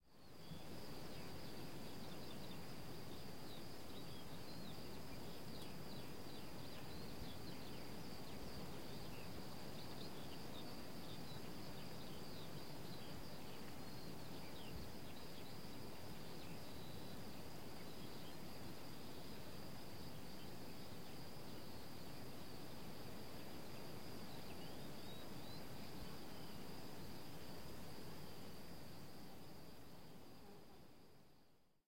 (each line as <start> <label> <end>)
0.0 delicate wind 31.7
0.2 birds 28.5